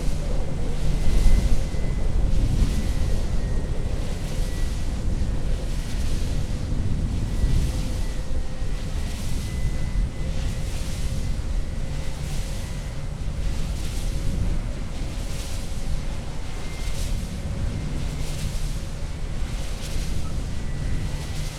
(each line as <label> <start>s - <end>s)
ripping wind 0.0s - 21.5s
swoosh of the enormous propeller 0.0s - 21.5s